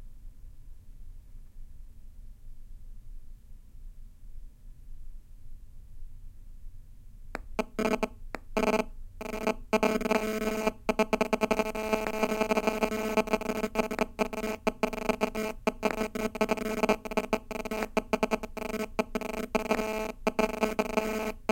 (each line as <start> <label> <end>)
7.4 magnetic interference 21.5